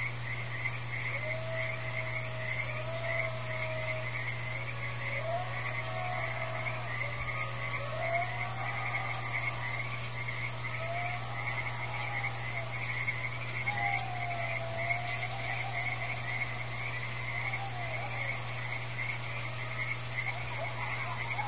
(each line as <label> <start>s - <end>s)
coyotes howling in the distance 0.0s - 21.4s
frogs 0.0s - 21.4s
reaction of a very nervous jackass 1.1s - 21.4s
dogs 10.7s - 21.4s